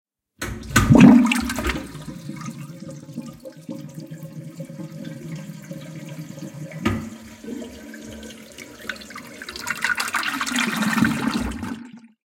Toilet Flushing 0:00.4 - 0:12.2

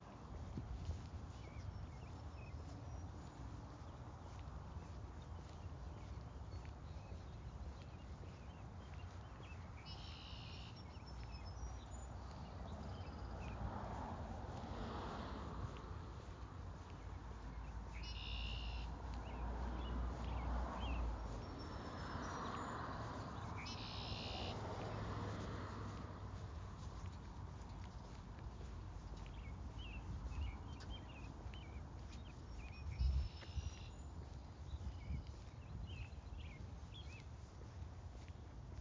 me walking to work 0:24.5 - 0:38.8

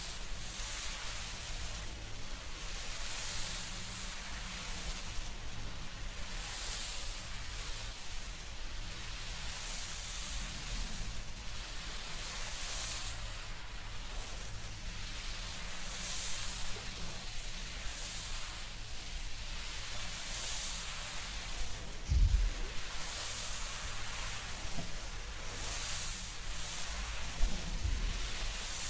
Smoke 0:00.0 - 0:28.8

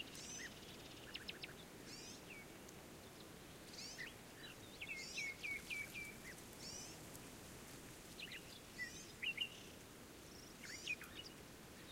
Nightingales 0:00.0 - 0:07.2

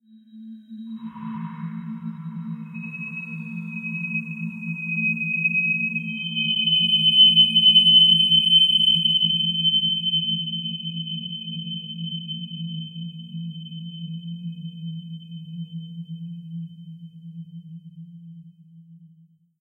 synthetic whistle 0:01.0 - 0:10.2

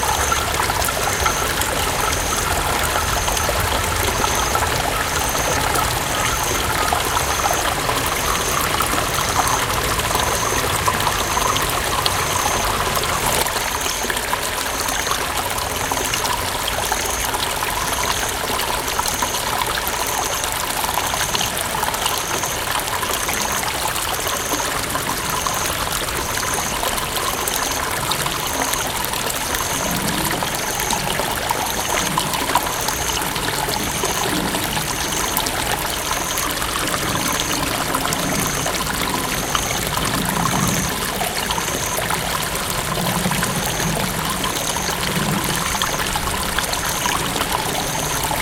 a lot of water seemed to stream 0:00.0 - 0:48.4

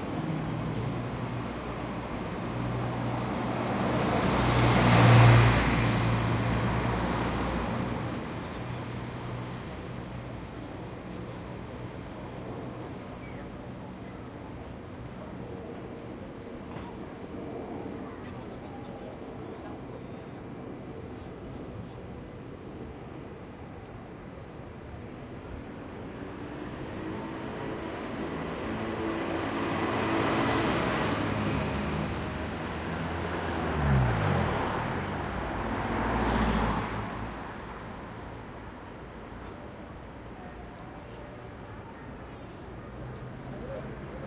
buses 0:00.0 - 0:44.2
cars 0:00.0 - 0:44.2
pedestrians 0:00.0 - 0:44.2

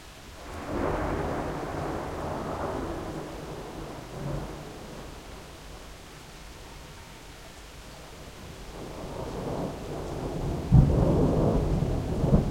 rain 0:00.0 - 0:12.5
thunderclaps 0:00.4 - 0:05.9
thunderclaps 0:08.7 - 0:12.5

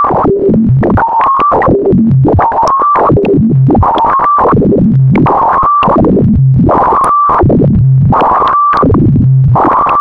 cacaphony of broken bleeps 0:00.0 - 0:10.0

